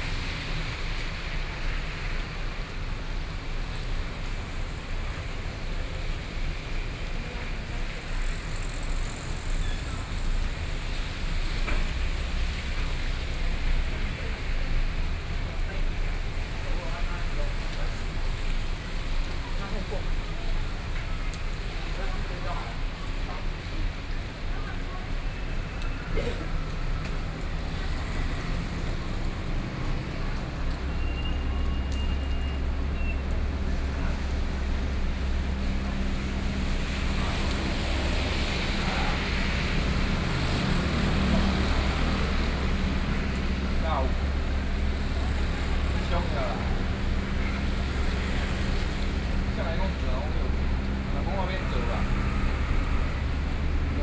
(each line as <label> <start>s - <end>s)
Rainy Day 0.0s - 54.0s
Traffic noise 0.0s - 54.0s
crowd 5.6s - 54.0s